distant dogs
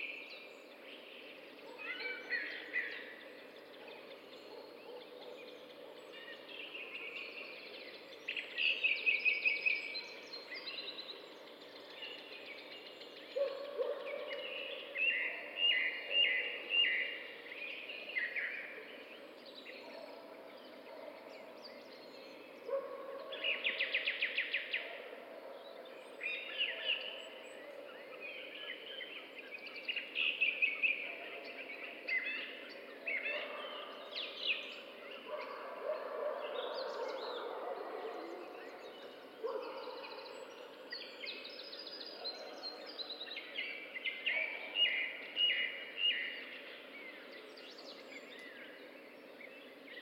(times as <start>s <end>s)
3.6s 7.7s, 13.3s 17.4s, 18.6s 28.2s, 30.9s 47.4s